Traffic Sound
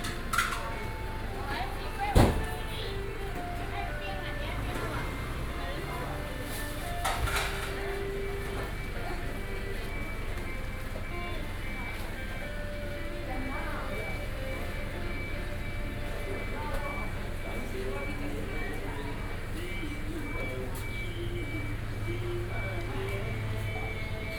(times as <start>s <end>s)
0.0s 9.0s